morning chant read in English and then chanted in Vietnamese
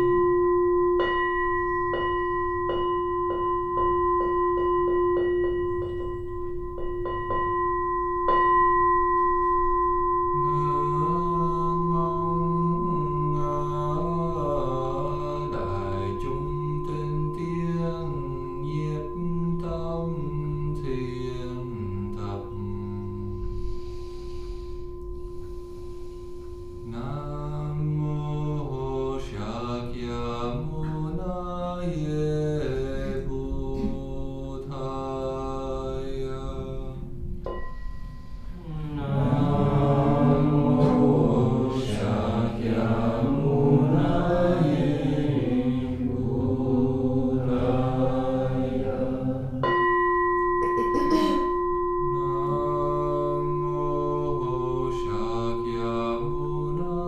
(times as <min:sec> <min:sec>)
0:10.4 0:24.6, 0:26.1 0:37.2, 0:38.6 0:49.6, 0:50.8 0:51.4, 0:52.0 0:57.0